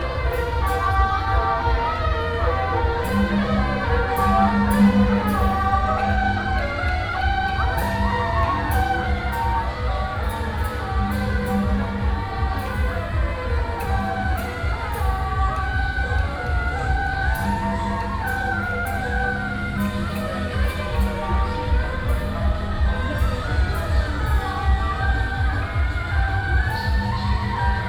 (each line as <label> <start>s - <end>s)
Walking on the road 0.0s - 27.8s